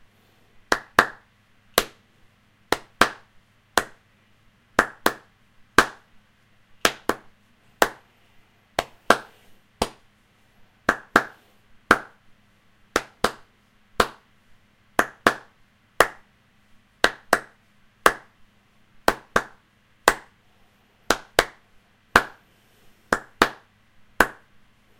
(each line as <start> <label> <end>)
0.7 Rhytmic clapping of hands 2.0
2.7 Rhytmic clapping of hands 4.0
4.8 Rhytmic clapping of hands 6.1
6.8 Rhytmic clapping of hands 8.1
8.8 Rhytmic clapping of hands 10.1
10.9 Rhytmic clapping of hands 12.2
12.9 Rhytmic clapping of hands 14.3
15.0 Rhytmic clapping of hands 16.3
17.0 Rhytmic clapping of hands 18.4
19.0 Rhytmic clapping of hands 20.4
21.1 Rhytmic clapping of hands 22.4
23.1 Rhytmic clapping of hands 24.5